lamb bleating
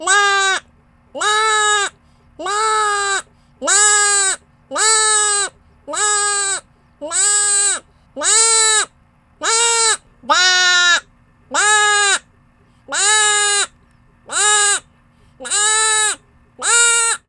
1.2s 11.0s

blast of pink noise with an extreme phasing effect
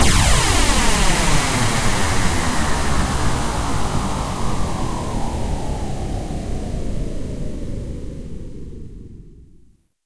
0.0s 7.4s

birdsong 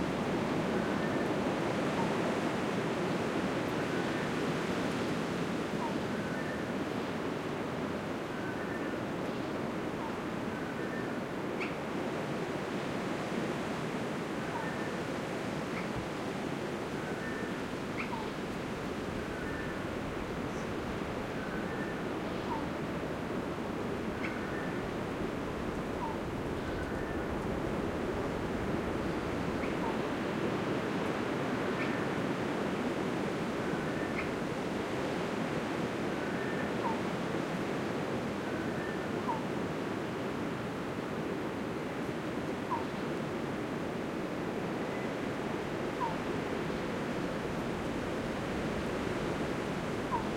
24.1s 24.9s, 50.0s 50.3s

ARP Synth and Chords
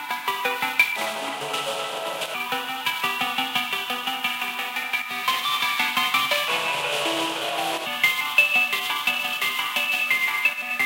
1.0s 4.0s, 6.2s 8.0s

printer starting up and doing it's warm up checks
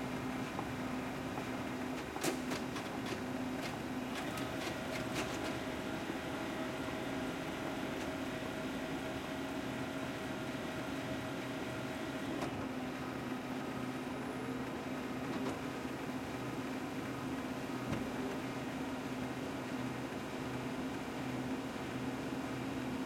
1.9s 14.6s

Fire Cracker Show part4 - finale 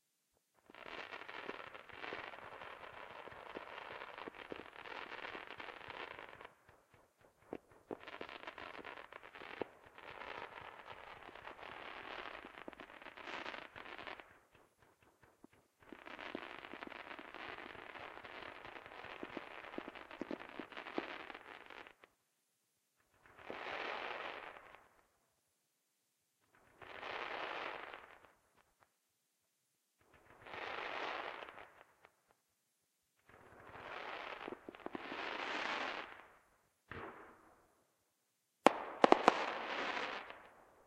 38.6s 40.8s

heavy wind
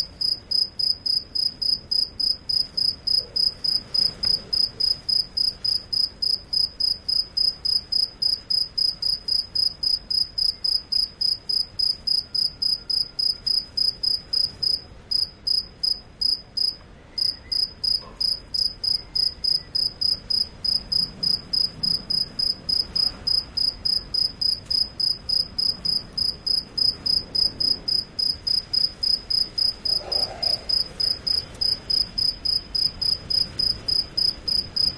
19.0s 34.9s

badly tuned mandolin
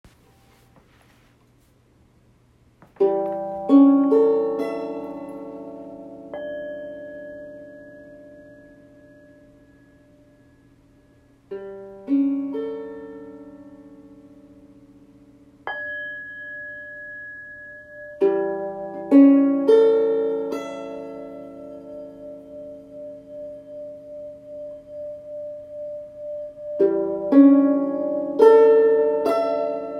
2.9s 9.0s, 18.2s 29.9s

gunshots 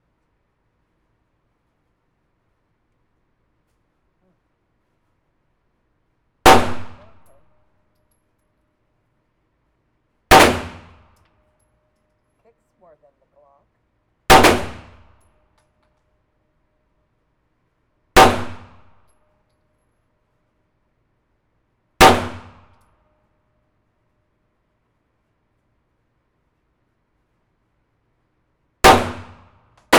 6.5s 7.4s, 10.3s 11.1s, 14.3s 15.1s, 18.2s 19.0s, 22.0s 22.8s, 28.8s 29.9s

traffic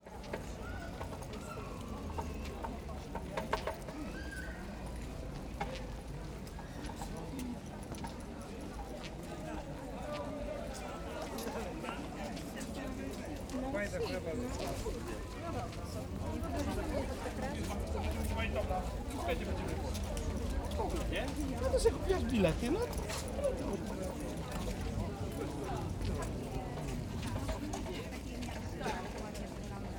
12.4s 29.9s

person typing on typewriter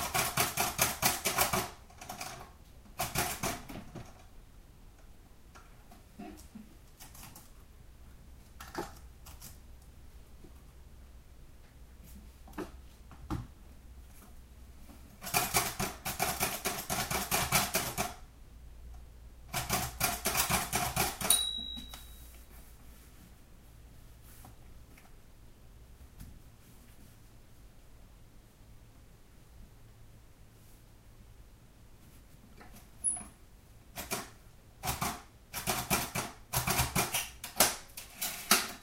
0.0s 4.2s, 15.2s 18.2s, 19.5s 21.4s, 33.9s 38.8s

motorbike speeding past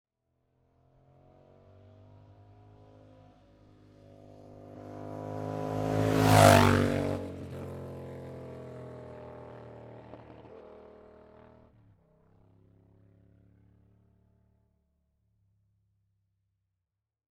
1.0s 11.7s

